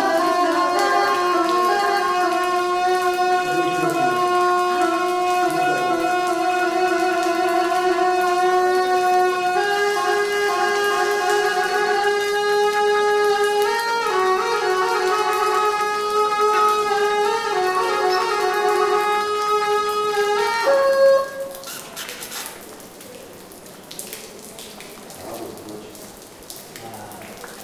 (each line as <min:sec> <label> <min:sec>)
0:00.0 Buddhist Monk plays traditional horn (Gyaling) 0:22.5